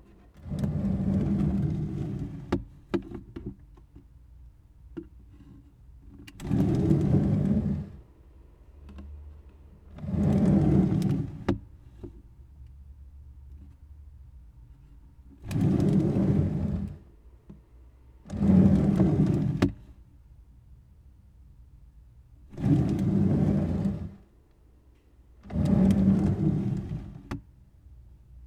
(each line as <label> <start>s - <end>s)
pulling and pushing a drawer 6.4s - 8.0s
pulling and pushing a drawer 9.9s - 11.6s
pulling and pushing a drawer 15.4s - 17.0s
pulling and pushing a drawer 18.3s - 19.8s
pulling and pushing a drawer 22.5s - 24.2s
pulling and pushing a drawer 25.5s - 27.3s